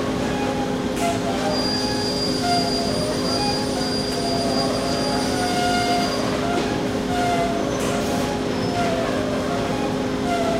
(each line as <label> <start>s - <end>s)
machinery 0.0s - 10.5s